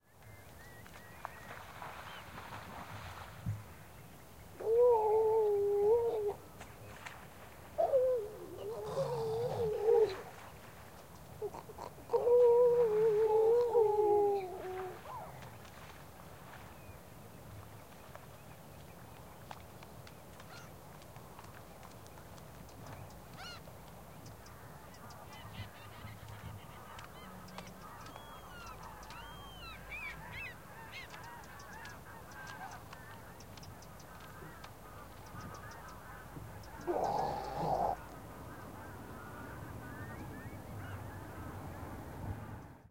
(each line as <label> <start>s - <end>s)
birds 0.0s - 42.9s
splashing in the heavy tidal flow 0.5s - 36.6s
seals 7.0s - 10.5s
seals 11.4s - 16.6s
seals 34.0s - 42.0s